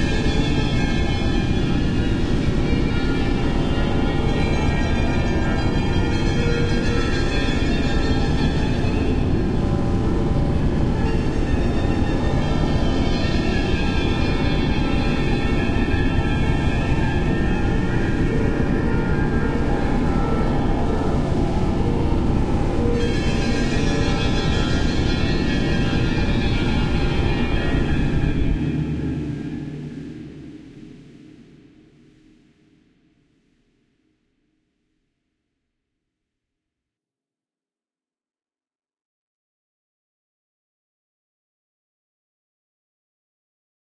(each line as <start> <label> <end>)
0.0 drones 32.5